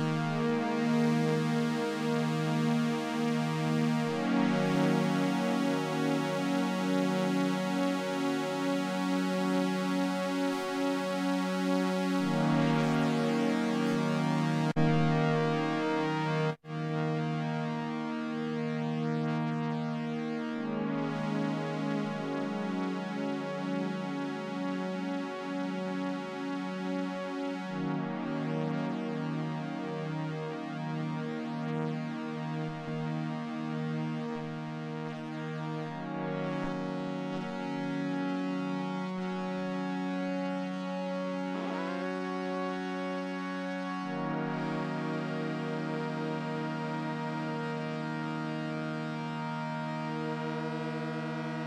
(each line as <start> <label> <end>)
40.9 Oberheim chords 51.6